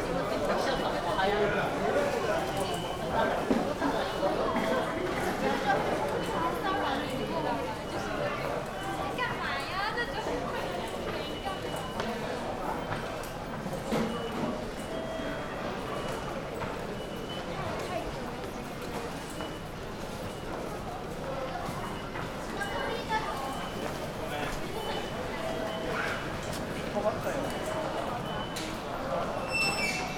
0.4s beeps of the tickets gates 20.9s
21.5s beeps of the tickets gates 30.1s

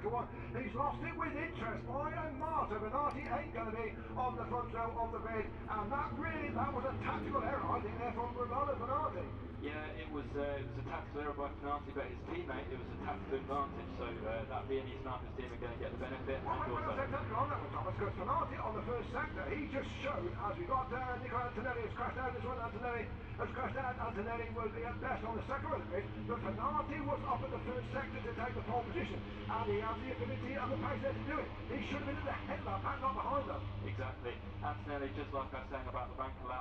0.0s commentary 36.6s

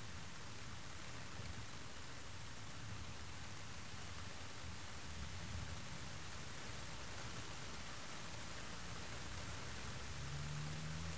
0.0s rain on the plastic roof of partytent 11.1s
8.9s car passing by on wet pavement 11.1s

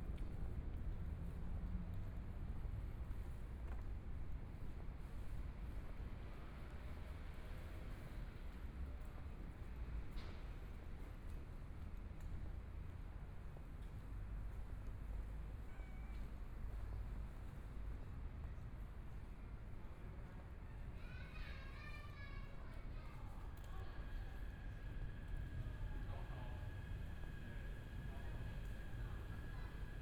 23.4s Trains traveling through 30.0s

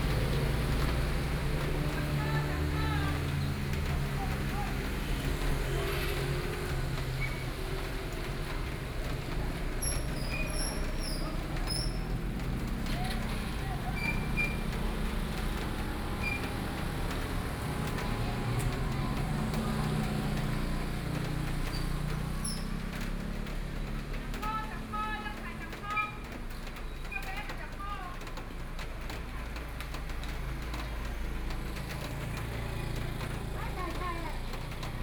0.0s Traffic Noise 35.0s
1.5s vegetable vendors selling their voice 6.4s
9.3s vegetable vendors selling their voice 21.6s
23.9s vegetable vendors selling their voice 30.8s
31.4s vegetable vendors selling their voice 35.0s

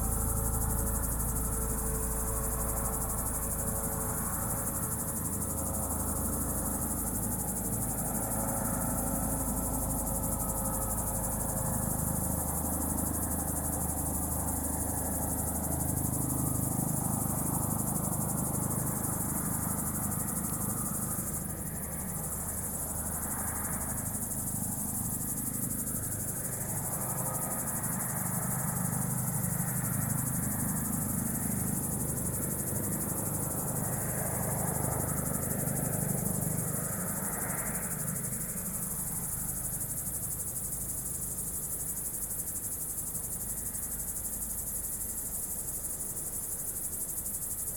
0.0s Crickets 47.7s

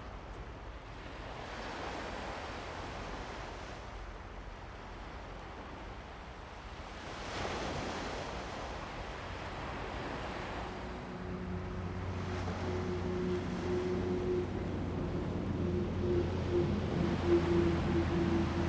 1.0s waves 18.6s
9.8s Traffic sound 18.6s

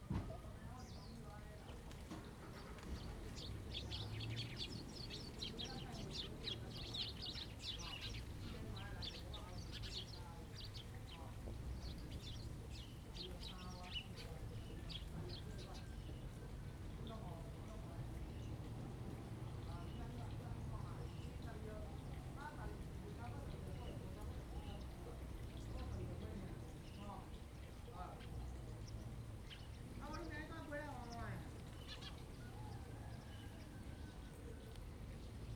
0.6s Birds singing 35.5s

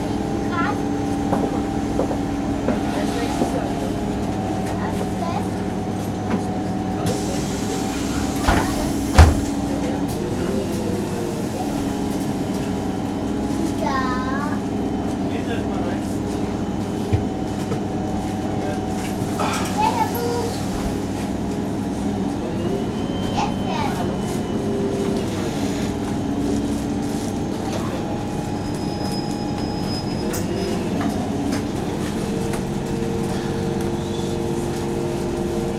0.0s midtown bus 35.7s
0.4s little child is talking 0.8s
4.7s little child is talking 5.6s
13.7s little child is talking 14.7s
19.6s little child is talking 20.6s
23.4s little child is talking 24.1s

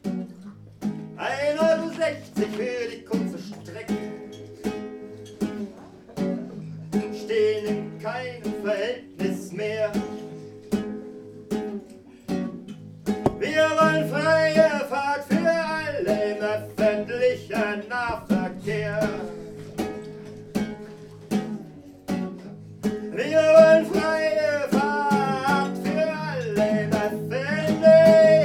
1.2s poetry 4.3s
5.6s poetry 10.6s
13.3s poetry 20.7s
22.8s poetry 28.4s

